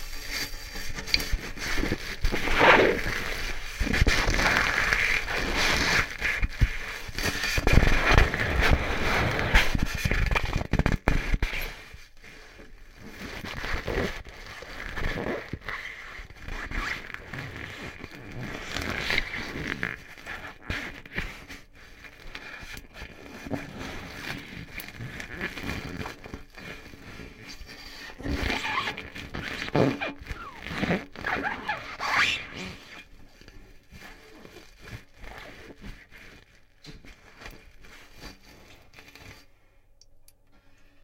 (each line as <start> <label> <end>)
0.0 crumpling paper underwater 39.7